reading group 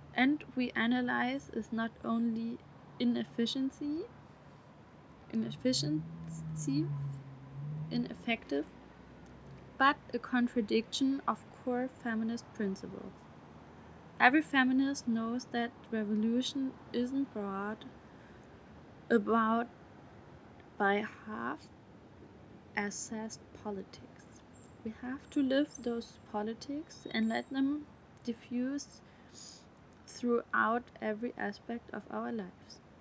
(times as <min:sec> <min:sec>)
0:00.0 0:07.1, 0:07.9 0:08.7, 0:09.6 0:13.2, 0:20.7 0:21.6, 0:22.8 0:32.8